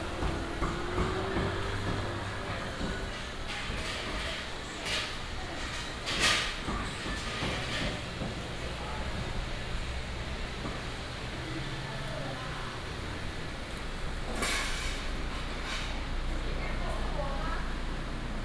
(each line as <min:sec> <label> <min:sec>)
0:00.0 Traffic sound 0:04.7